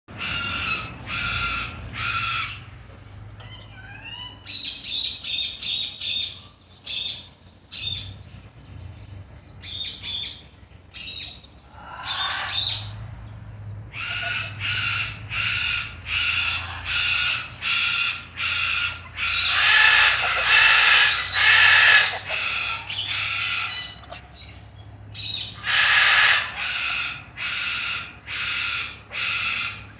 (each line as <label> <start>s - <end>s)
blue-and-gold macaws 0.1s - 7.4s
cockatoo 0.1s - 8.5s
Black-handed spider monkey 0.1s - 29.9s
blue-and-gold macaws 9.7s - 29.9s
cockatoo 11.0s - 29.9s